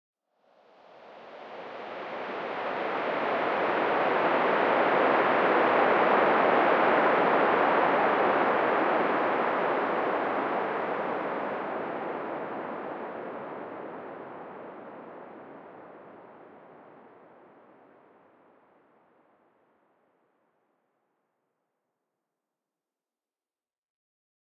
1.0s Long Noisy Woosh 17.9s

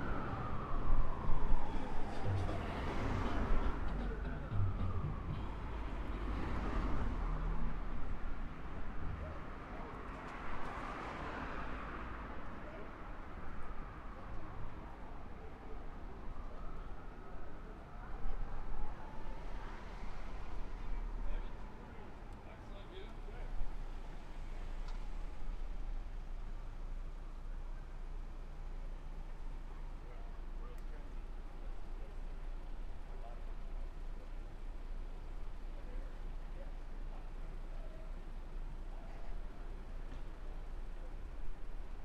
0.0s siren 9.2s
0.0s fire truck 42.0s
0.0s traffic 42.0s
12.4s siren 22.3s

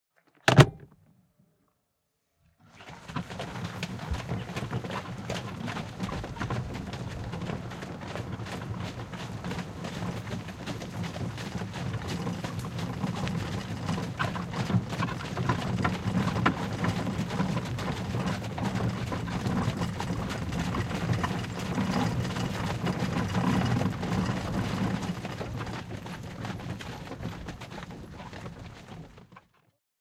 0.3s Horsewagon door 1.0s
2.7s horse 29.8s
2.8s Horsewagon 29.8s

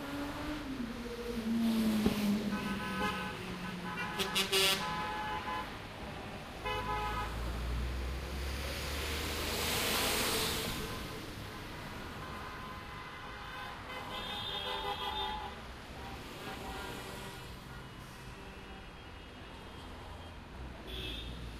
0.0s cars passing 21.5s

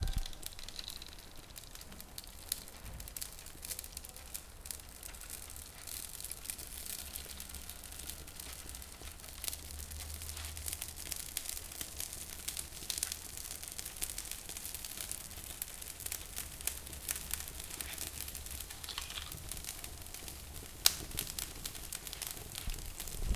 0.0s burning leaves 23.3s

